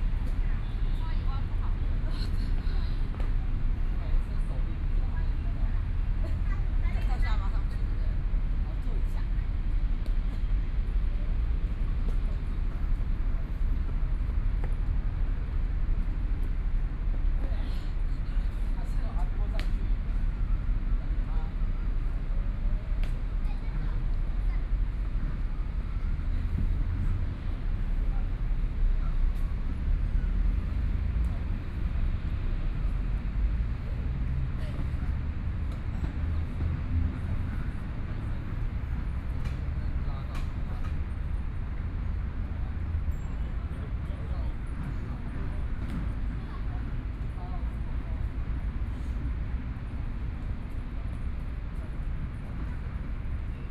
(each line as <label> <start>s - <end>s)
Traffic Sound 18.9s - 53.5s